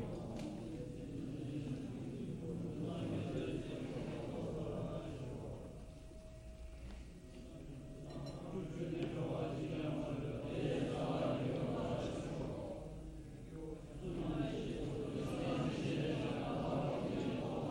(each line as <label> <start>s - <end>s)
Buddhist monks praying, chanting 0.0s - 17.7s
bells 3.2s - 10.8s